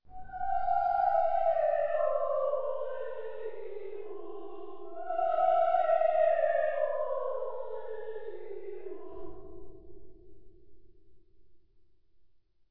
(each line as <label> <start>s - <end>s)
Singing Ghost 0.1s - 10.1s